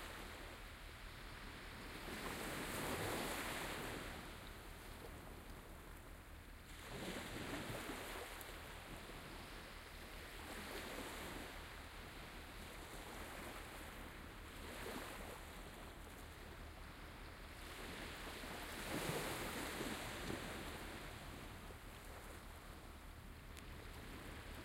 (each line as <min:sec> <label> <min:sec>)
0:00.0 waves 0:24.6